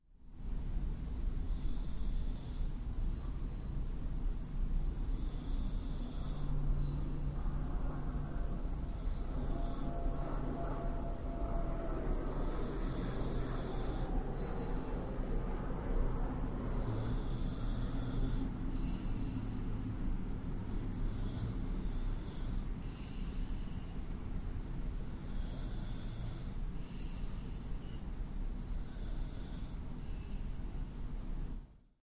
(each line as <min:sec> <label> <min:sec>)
0:00.3 urban noise 0:31.7
0:00.4 Airplane 0:31.7
0:01.2 breath 0:31.7